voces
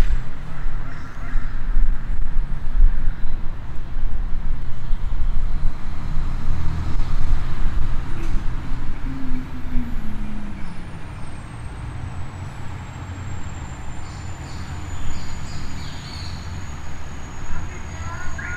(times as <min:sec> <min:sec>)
0:08.2 0:11.2, 0:17.4 0:18.5